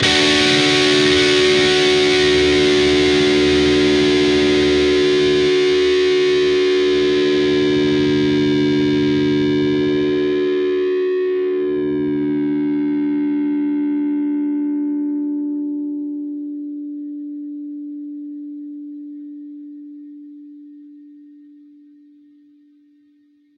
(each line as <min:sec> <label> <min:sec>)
0:00.0 distorted guitar 0:21.3